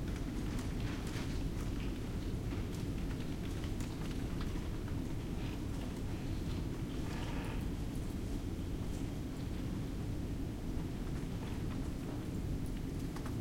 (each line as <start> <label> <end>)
0.0 ventilation system 13.4